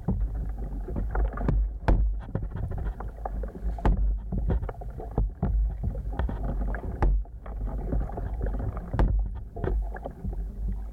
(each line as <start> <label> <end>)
0.0 red mangrove prop roots that move against each other 10.9